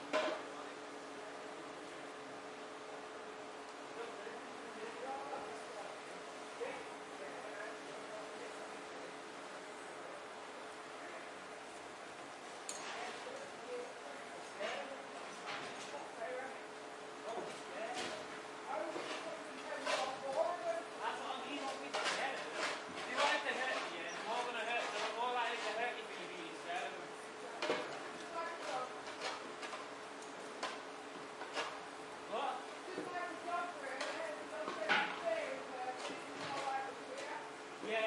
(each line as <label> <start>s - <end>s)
workers 0.0s - 38.0s